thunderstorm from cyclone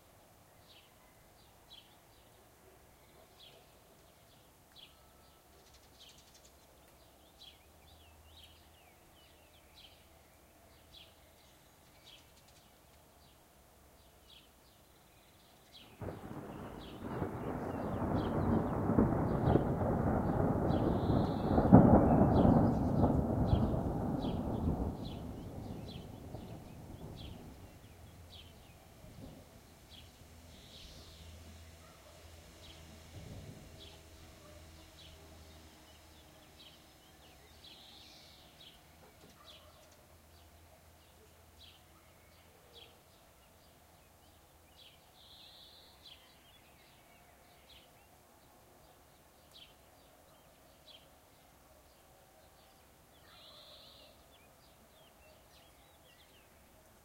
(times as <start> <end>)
16.0 30.1, 32.6 35.6